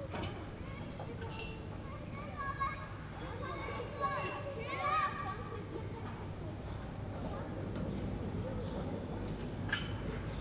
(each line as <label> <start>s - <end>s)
Children playing 0.0s - 10.4s